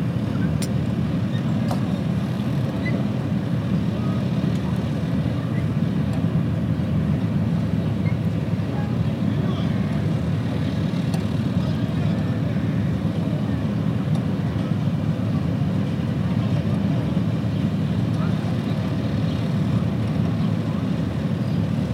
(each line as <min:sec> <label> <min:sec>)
0:00.0 Harbour sounds 0:21.9
0:03.8 people talking 0:05.9
0:08.6 people talking 0:21.5